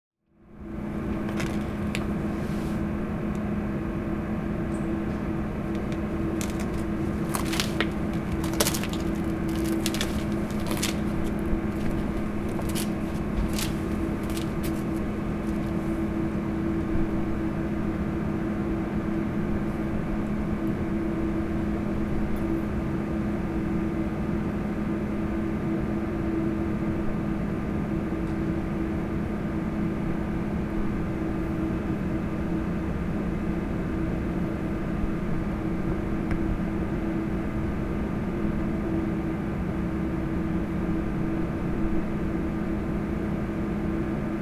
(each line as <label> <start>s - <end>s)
antenna transformer station 0.4s - 44.4s
bicycles 1.3s - 2.8s
bicycles 5.8s - 16.0s